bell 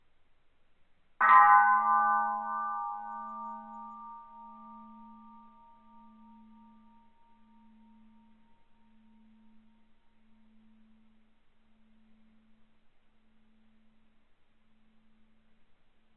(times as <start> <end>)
1.2 12.6